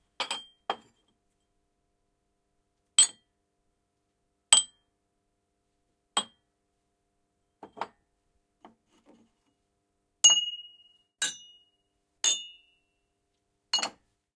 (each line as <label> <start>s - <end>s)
Shot glass hits objects on a shelf 0.2s - 0.9s
Shot glass hits objects on a shelf 3.0s - 3.3s
Shot glass hits objects on a shelf 4.5s - 4.8s
Shot glass hits objects on a shelf 6.2s - 6.4s
Shot glass hits objects on a shelf 10.2s - 12.7s
Shot glass hits objects on a shelf 13.8s - 14.1s